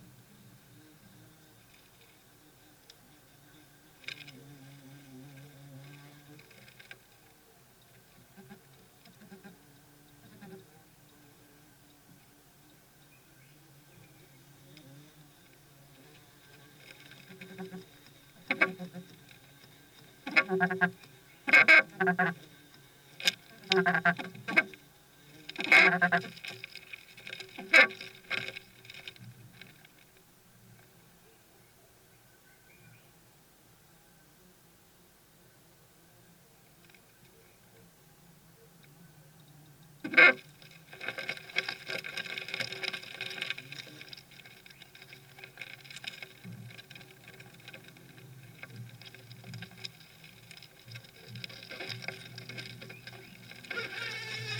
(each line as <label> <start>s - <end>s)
Beetles coming and going to their nest in the woodwork 0.0s - 33.2s
Beetles coming and going to their nest in the woodwork 35.6s - 54.5s